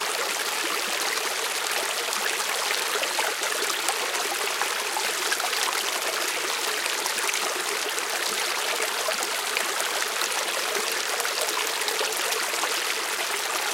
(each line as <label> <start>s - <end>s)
Creek 0.0s - 13.7s